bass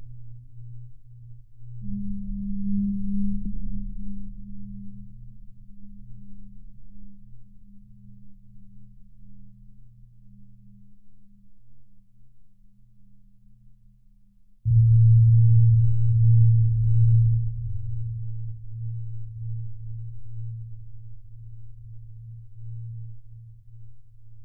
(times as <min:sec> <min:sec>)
0:14.7 0:24.4